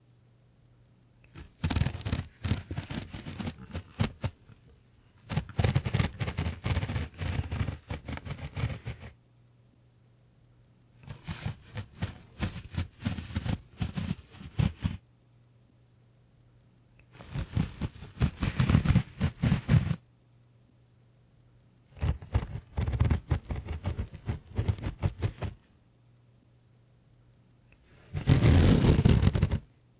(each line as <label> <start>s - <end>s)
Minor Fabric Sounds 1.3s - 9.1s
Zipping and Unzipping 1.4s - 4.4s
Zipping and Unzipping 5.2s - 9.1s
Minor Fabric Sounds 11.0s - 15.0s
Zipping and Unzipping 11.1s - 15.0s
Minor Fabric Sounds 17.1s - 20.0s
Zipping and Unzipping 17.2s - 20.0s
Minor Fabric Sounds 22.0s - 25.6s
Minor Fabric Sounds 27.9s - 29.6s
Zipping and Unzipping 28.0s - 29.6s